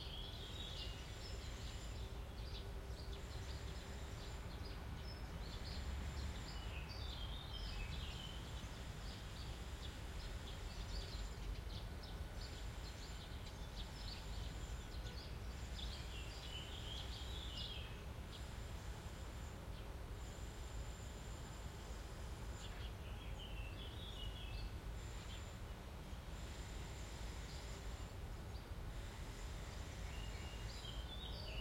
0.0s birds 31.6s

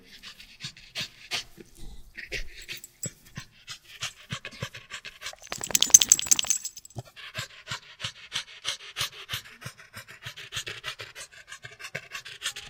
5.4s old hound dog wiggling on his back on the ground 6.9s
5.4s dog shake thing 6.9s
7.8s Old hound dog panting 12.6s

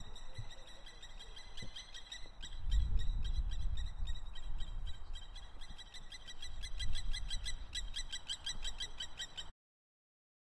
0.0s Kiwi Birds 9.5s

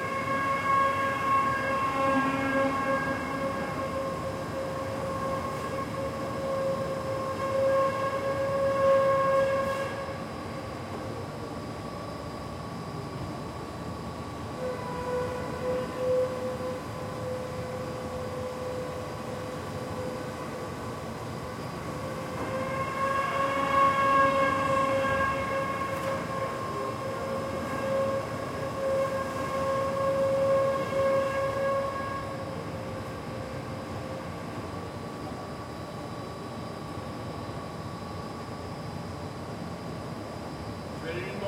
0.0s FACTORY machines 41.4s
41.0s worker talking in the background 41.4s

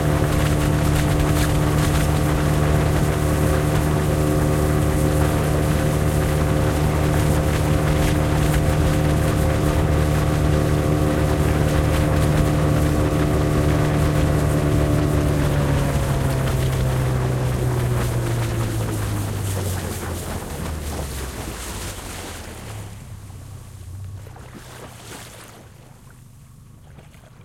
0.0s outboard motor 27.4s
0.0s waves splatter against the boat 27.4s

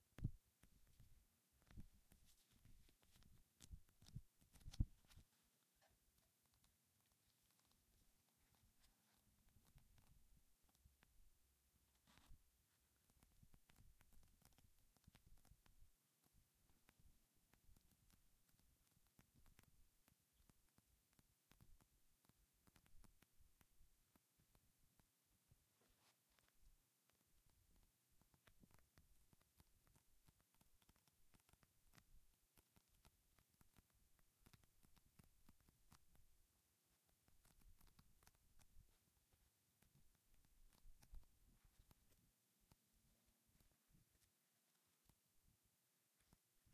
0.2s finger on paper sounds 11.2s
1.7s page flipping 5.3s
25.7s finger on paper sounds 45.5s

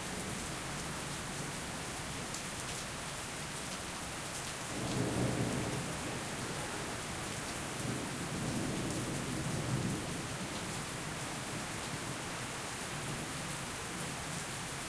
0.0s rain 14.8s
0.0s wind 14.8s

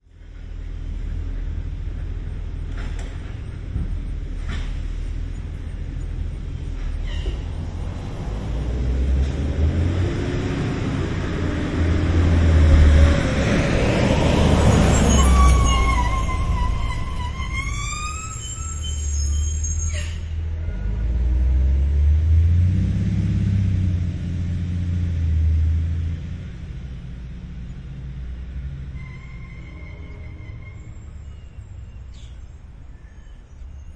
0.0s school bus passing from left to right 33.9s
6.8s very squeaky air brakes 7.4s
14.7s very squeaky air brakes 20.4s
29.0s very squeaky air brakes 33.9s

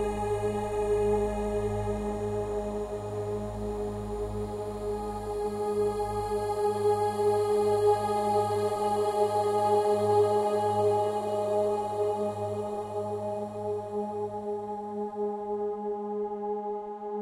0.0s choir synthetic 17.2s

